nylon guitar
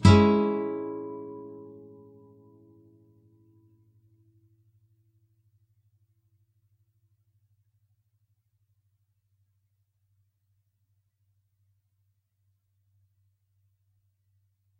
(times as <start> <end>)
0.0 3.3